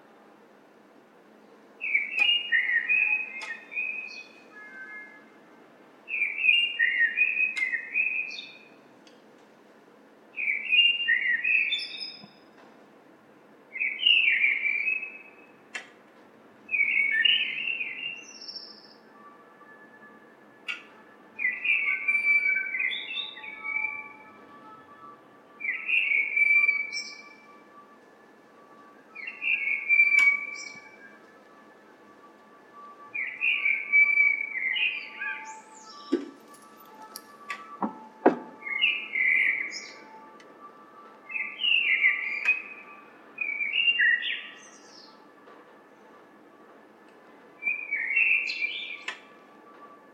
distant noise of people entering the building 0:00.0 - 0:50.1
blackbird singing 0:01.8 - 0:05.2
blackbird singing 0:06.1 - 0:08.7
blackbird singing 0:10.4 - 0:12.4
blackbird singing 0:13.7 - 0:15.5
blackbird singing 0:16.7 - 0:19.2
blackbird singing 0:20.7 - 0:24.8
blackbird singing 0:25.6 - 0:27.6
blackbird singing 0:29.1 - 0:31.2
blackbird singing 0:33.1 - 0:40.4
blackbird singing 0:41.2 - 0:45.2
blackbird singing 0:47.6 - 0:49.3

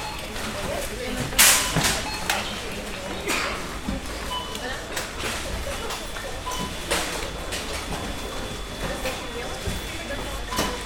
a lot of people shopping 0:00.0 - 0:10.8

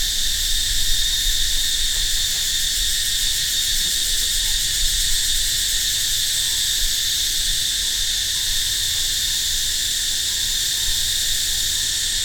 Crickets 0:00.0 - 0:12.2

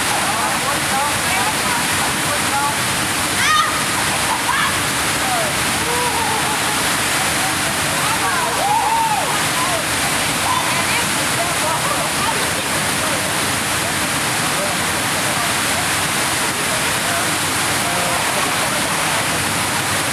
water tower 0:00.0 - 0:20.1

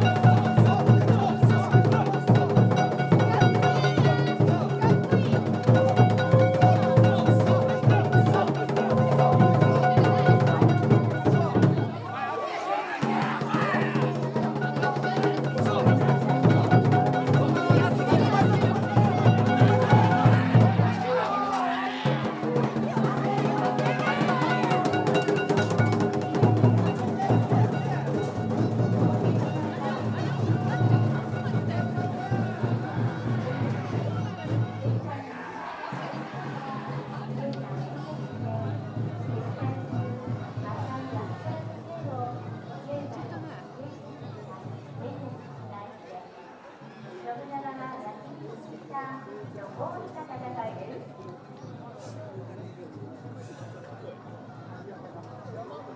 Festival floats are raced though crowds of spectators 0:00.0 - 0:55.9

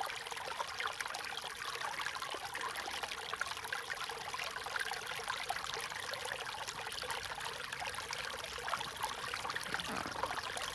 Small streams 0:02.8 - 0:10.7

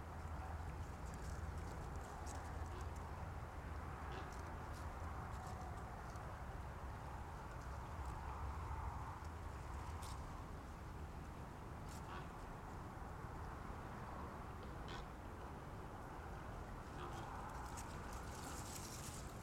close dried grass 0:00.0 - 0:11.1
distant traffic 0:00.0 - 0:19.4
close dried grass 0:16.6 - 0:19.4

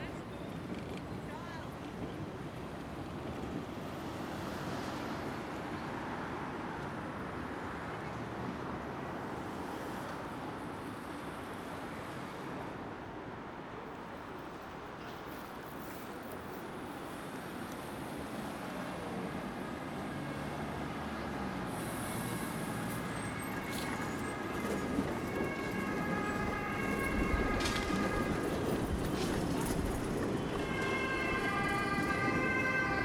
bikes 0:00.0 - 0:05.1
trams 0:00.0 - 0:33.0
trucks 0:00.0 - 0:33.0
cars 0:02.6 - 0:33.0
bikes 0:14.4 - 0:18.8
police 0:17.0 - 0:33.0
bikes 0:21.3 - 0:32.8

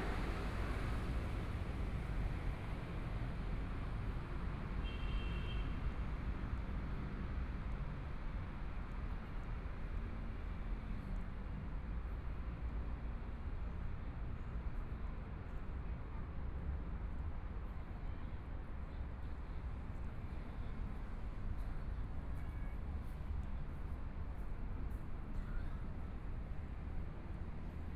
Traffic Sound 0:00.0 - 0:02.8

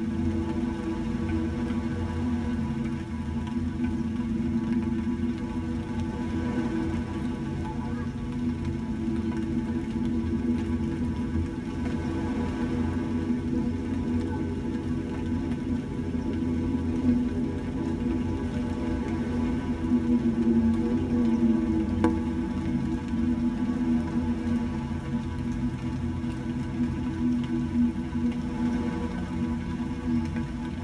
slight rain on the beach 0:00.0 - 0:30.8

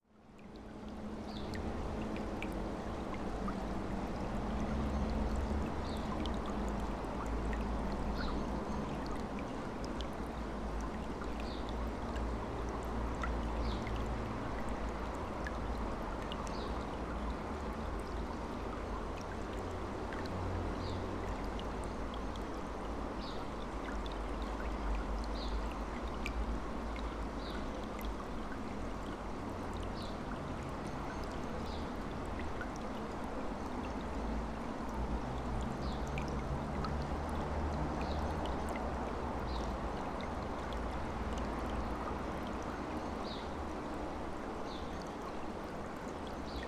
stream flowing 0:00.1 - 0:46.6

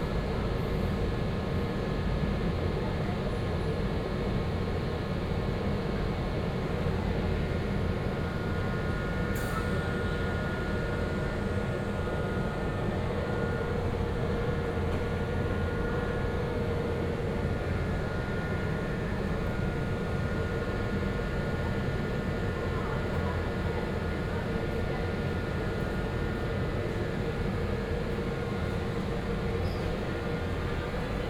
train arriving, idling and departing 0:00.0 - 0:31.2
sound coming form a cafe 0:06.9 - 0:31.2

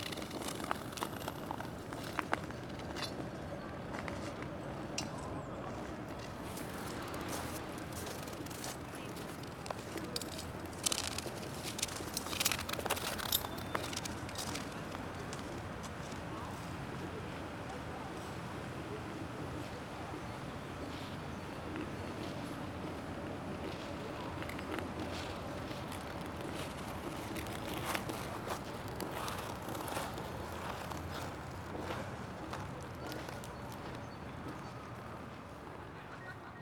Ice Skating 0:00.0 - 0:03.2
Ice Skating 0:06.1 - 0:15.3

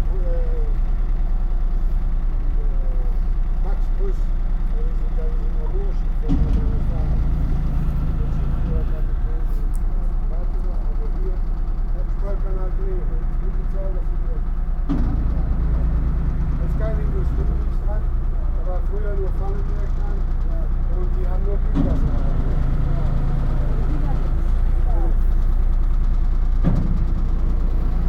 boat motor 0:00.0 - 0:28.0
ferry shipman talking to his passengers 0:16.6 - 0:25.4

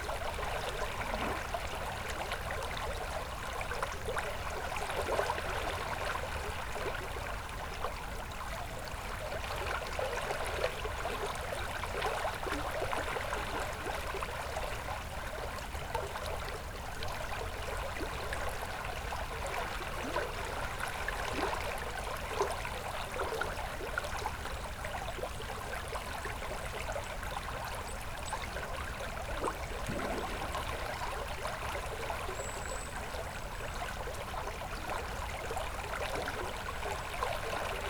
small river 0:00.0 - 0:37.8

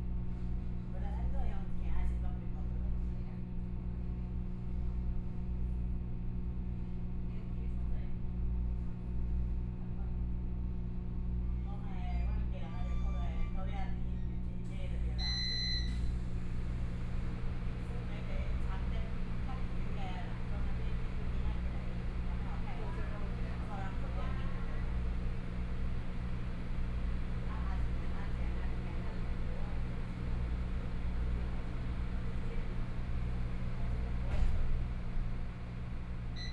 Local Train 0:15.9 - 0:36.4

